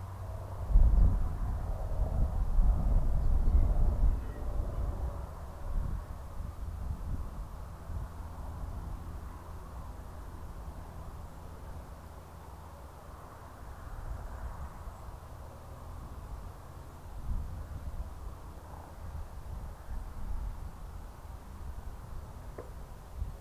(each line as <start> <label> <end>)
0.0 aircraft 23.4